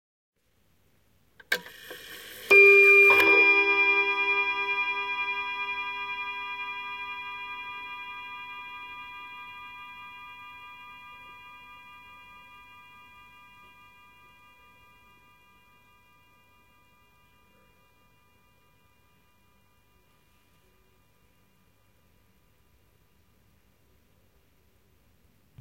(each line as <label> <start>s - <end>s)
Antique table clock (probably early 20th century) chiming one time 1.5s - 21.0s